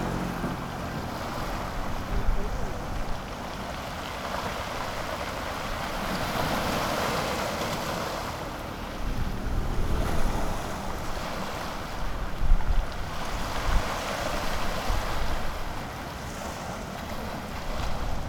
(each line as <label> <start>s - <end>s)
Traffic Sound 0.0s - 3.7s
Waves 0.0s - 18.2s
Wind 0.0s - 18.2s
Traffic Sound 8.0s - 12.4s